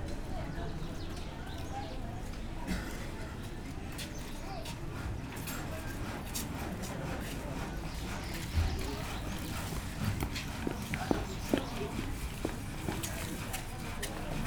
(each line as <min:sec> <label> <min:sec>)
0:00.0 street activity 0:14.4